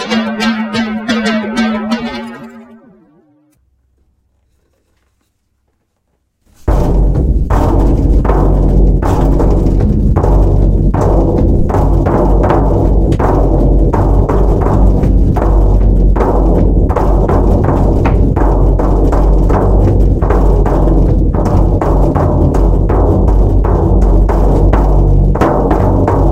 miniaturized drums 0.0 - 3.3
miniaturized drums 6.4 - 26.3

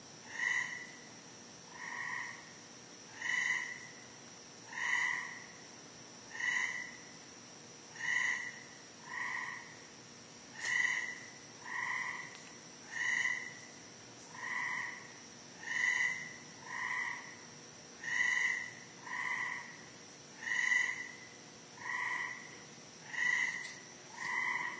Frog announcement calls 3.1 - 4.0
Frog announcement calls 4.7 - 5.6
Frog announcement calls 6.3 - 7.0
Frog announcement calls 8.0 - 9.8
Frog announcement calls 10.6 - 12.3
Frog announcement calls 12.9 - 13.7
Frog announcement calls 14.4 - 17.4
Frog announcement calls 18.0 - 19.8
Frog announcement calls 20.4 - 24.7

